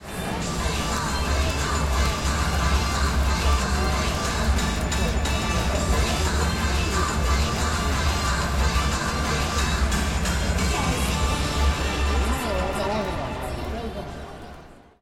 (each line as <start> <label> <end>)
0.0 Crowd 15.0